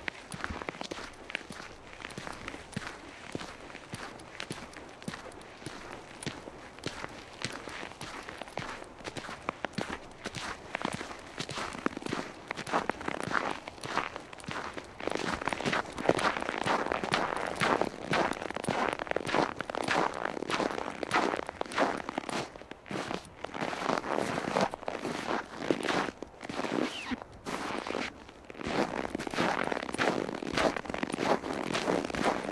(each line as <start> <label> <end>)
0.0 single person's footsteps in the snow 32.5
26.8 Clothes/zippers can be heard clinking 27.2